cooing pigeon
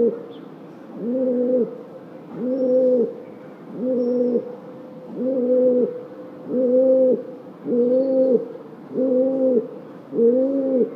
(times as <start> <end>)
0.0 0.2, 1.0 1.8, 2.4 3.1, 3.7 4.5, 5.1 10.9